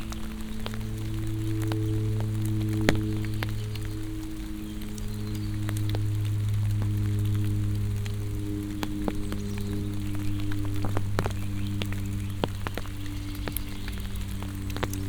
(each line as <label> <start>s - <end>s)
crunch of rain drops falling from the trees on my umbrela 0.0s - 15.0s
turbulent plane roar 0.0s - 15.0s